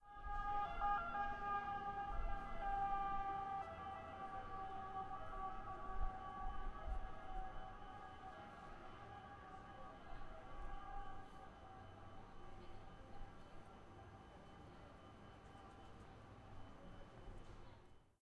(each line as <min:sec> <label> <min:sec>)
0:00.0 ambulance 0:18.0